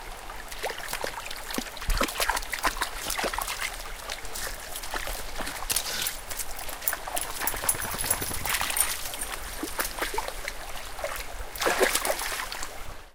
river 0.0 - 13.1
dog steps around in water 0.6 - 12.7

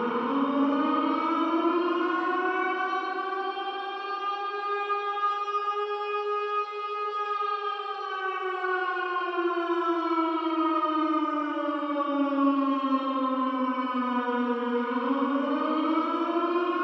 Siren 0.0 - 16.8

